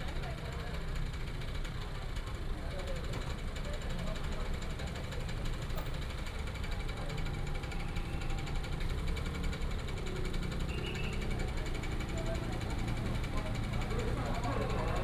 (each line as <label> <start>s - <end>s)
Many people gathered at the intersection 0.0s - 15.0s